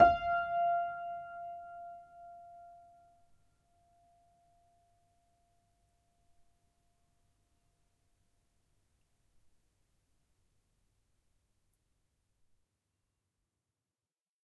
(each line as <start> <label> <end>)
0.0 upright choiseul piano 3.2